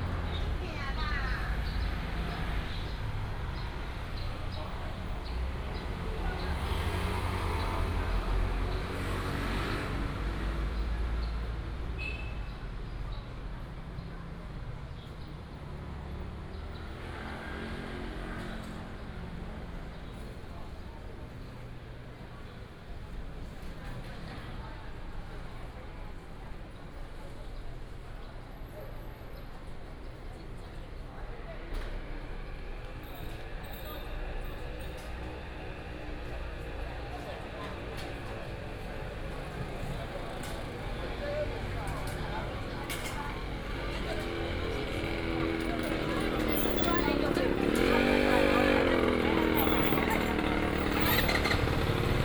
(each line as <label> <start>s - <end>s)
Traffic sound 0.0s - 52.2s
Walk through the market 0.0s - 52.2s
vendor 32.6s - 52.2s